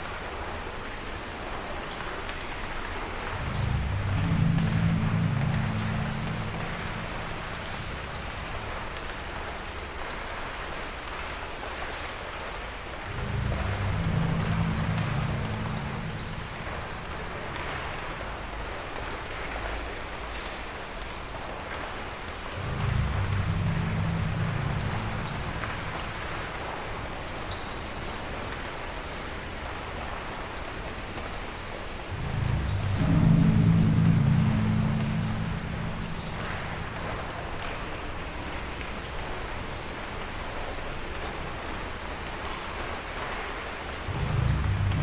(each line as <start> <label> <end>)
0.0 raining outside 45.0
0.0 water tower tank drone 45.0